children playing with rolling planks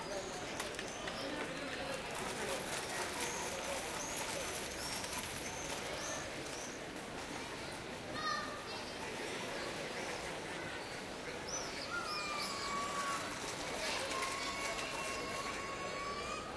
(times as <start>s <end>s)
12.2s 16.5s